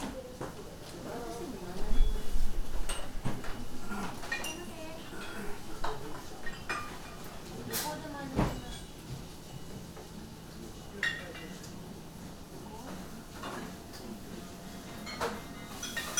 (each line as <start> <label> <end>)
0.0 waitresses talking to customers 15.0
0.0 hushed conversations 15.5
0.0 customers walking in and out 16.1
15.1 rattle from the kitchen 16.1